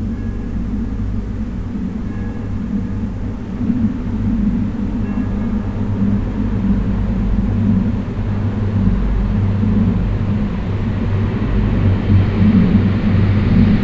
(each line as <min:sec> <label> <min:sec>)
0:00.0 kirchglocken 0:01.1
0:02.0 kirchglocken 0:03.2